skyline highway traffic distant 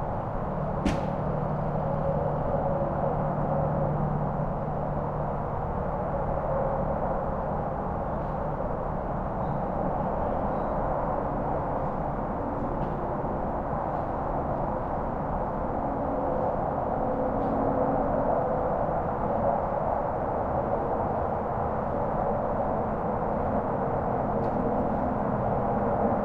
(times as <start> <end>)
0.0 5.1